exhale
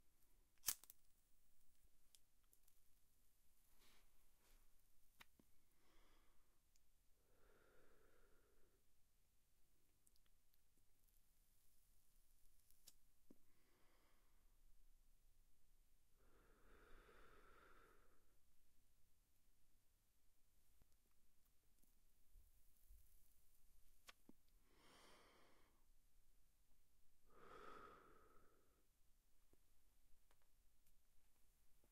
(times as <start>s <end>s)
5.7s 8.9s, 13.4s 14.5s, 16.2s 18.4s, 24.6s 25.9s, 27.3s 28.9s